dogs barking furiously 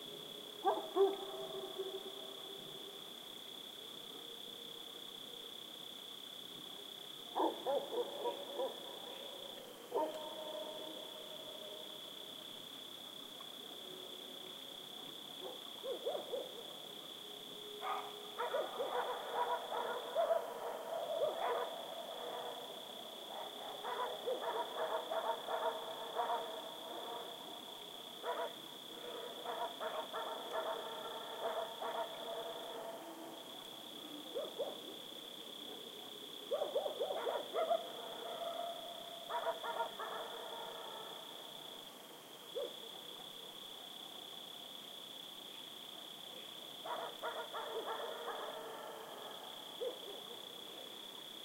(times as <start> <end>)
23.4 26.6, 39.3 40.4, 46.9 48.9